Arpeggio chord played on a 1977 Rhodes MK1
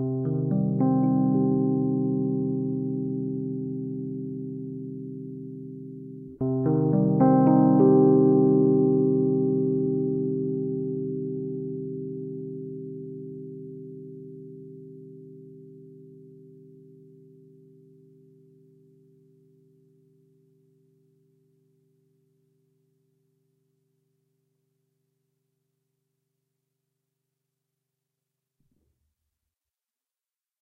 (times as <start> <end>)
0.0 23.1